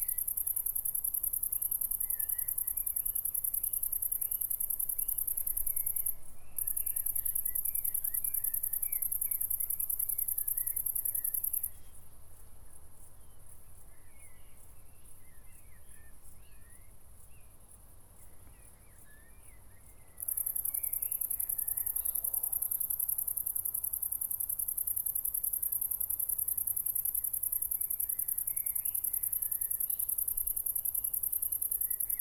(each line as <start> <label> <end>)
0.0 Crickets 32.2